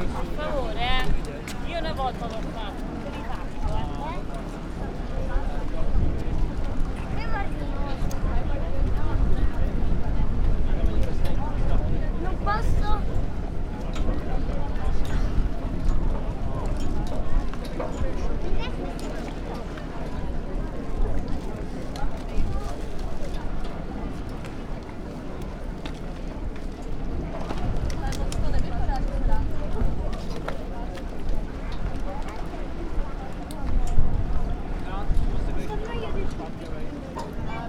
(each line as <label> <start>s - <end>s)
ferry arrives at the marina 0.0s - 37.6s
passengers are leaving the boat 0.0s - 37.6s